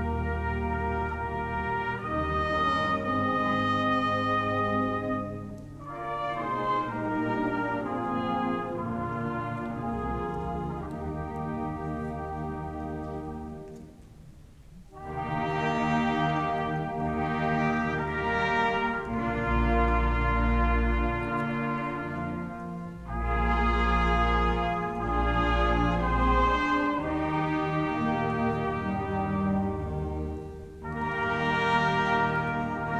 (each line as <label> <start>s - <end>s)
Blaskapelle Weihnachtslieder spielte 0.0s - 32.9s